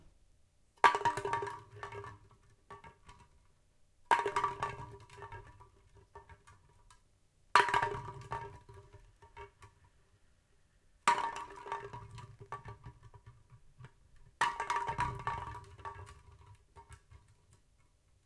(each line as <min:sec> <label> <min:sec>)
0:11.0 Rolling Can Sound 0:17.6